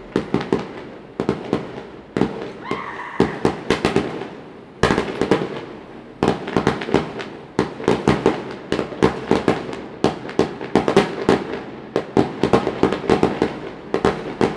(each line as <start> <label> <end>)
0.0 Firecrackers 14.5
0.0 fireworks 14.5